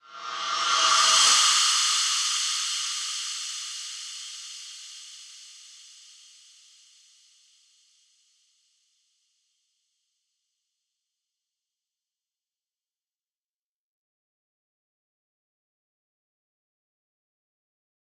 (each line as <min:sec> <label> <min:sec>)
0:00.0 Reverse Cymbals 0:06.4